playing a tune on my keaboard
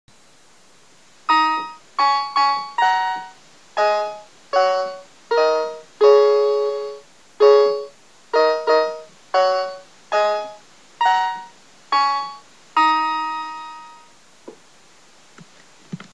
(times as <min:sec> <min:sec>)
0:01.3 0:14.1